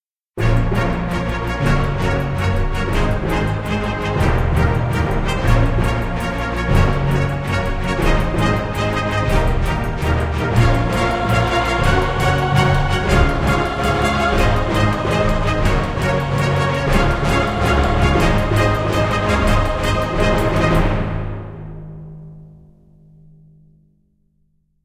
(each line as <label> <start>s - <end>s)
cello 0.4s - 21.6s
trombone 0.4s - 21.8s
french horns 0.4s - 22.0s
trumpet 0.4s - 22.0s
timpani 0.4s - 23.0s
choir 0.5s - 21.7s